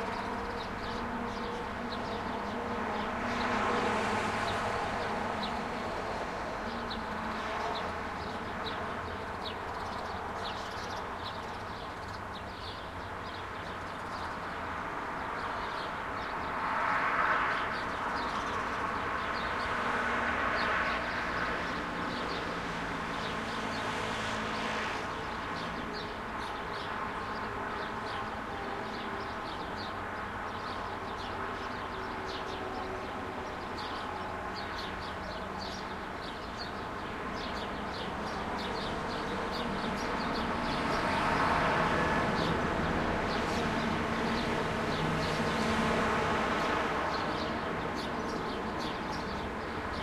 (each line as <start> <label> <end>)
0.0 birds 50.0
0.0 traffic 50.0